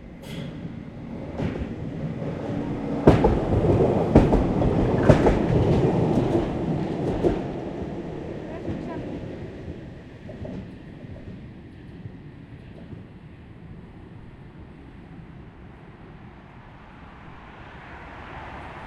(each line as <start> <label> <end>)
0.0 passing by trams 18.8
17.0 cars 18.8